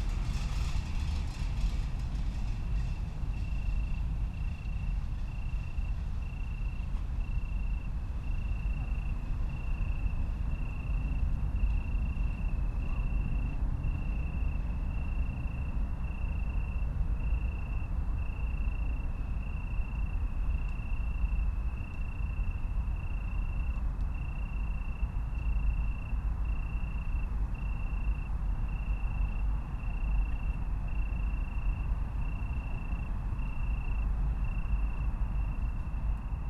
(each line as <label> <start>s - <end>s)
bicycles 0.0s - 4.8s
train 0.0s - 36.4s
crickets 0.0s - 36.4s